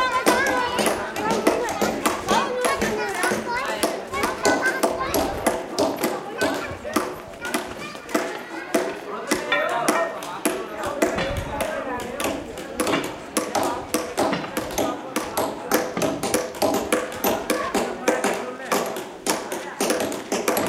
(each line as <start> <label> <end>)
0.0 chisel 20.6